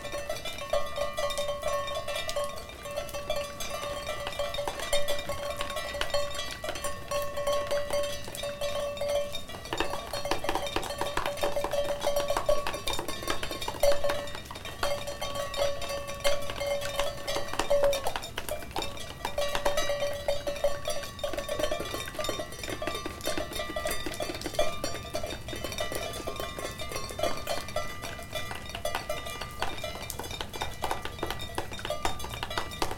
0.0s Rain as leaded falling petals 32.9s

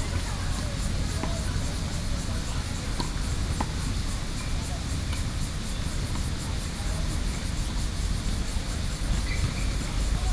0.0s Environmental Noise 10.3s
0.0s Tennis 10.3s

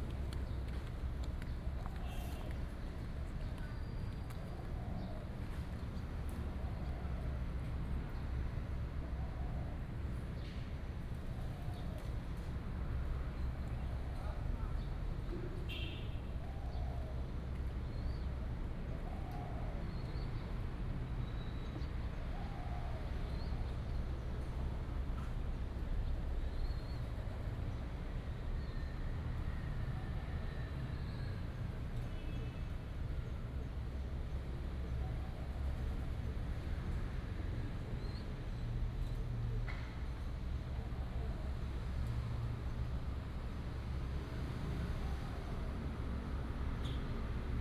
0.0s traffic sound 6.7s

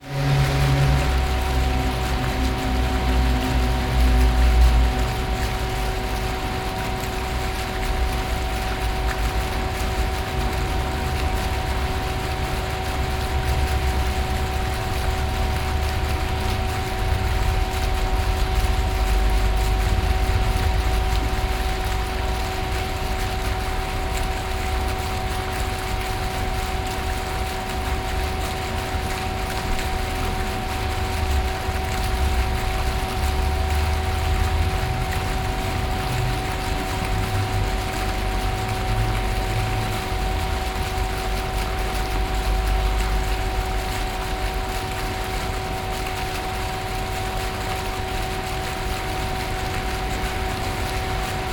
0.0s fountains 51.5s

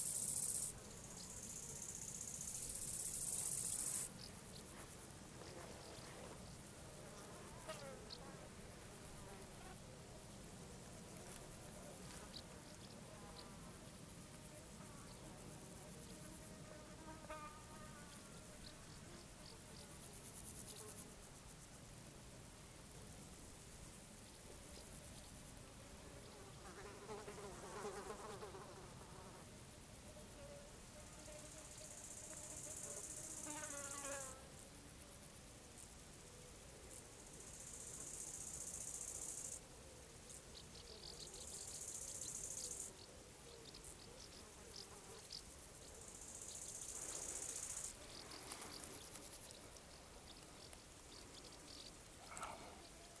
35.8s flies 53.2s
51.1s criquets 53.2s

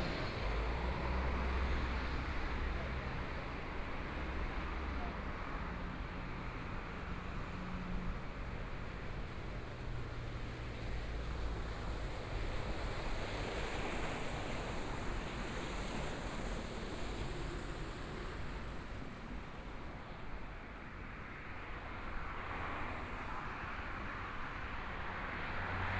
21.4s Traffic Sound 25.9s

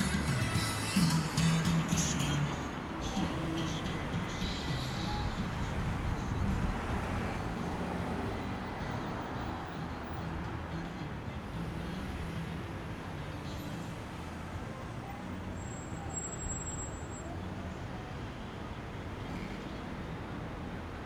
0.0s traffic 21.0s

